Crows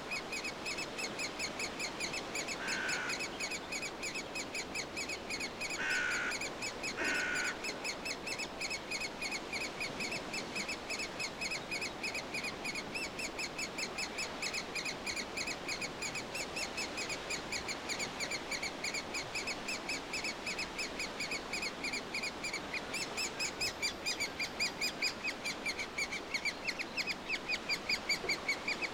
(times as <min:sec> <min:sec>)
0:02.5 0:03.3, 0:05.7 0:07.6